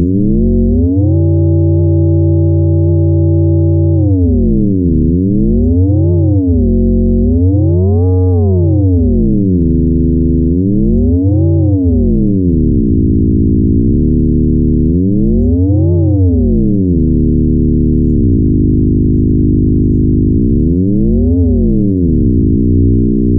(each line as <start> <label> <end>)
0.0 modular noises random 23.3